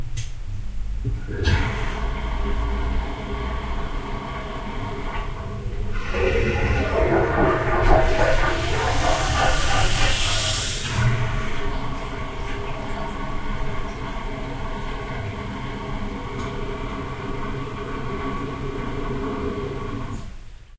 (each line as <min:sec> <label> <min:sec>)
0:01.2 toilet flush 0:20.7